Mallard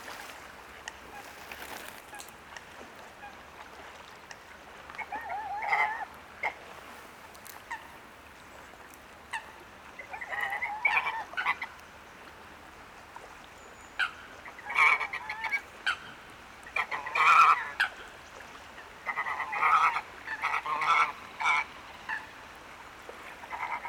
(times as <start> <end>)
5.0 6.6, 9.3 11.7, 14.0 16.0, 16.7 18.0, 19.0 22.3, 23.4 23.8